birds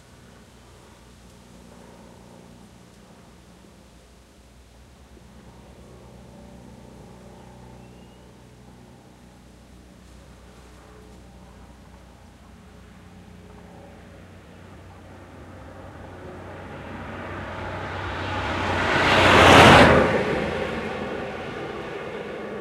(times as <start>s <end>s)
7.3s 8.4s